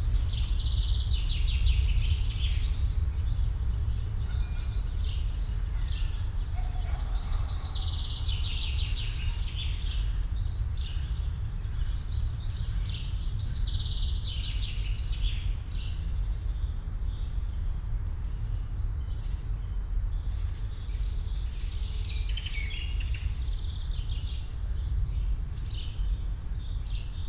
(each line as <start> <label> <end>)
0.0 deep drone of near and distant traffic 27.2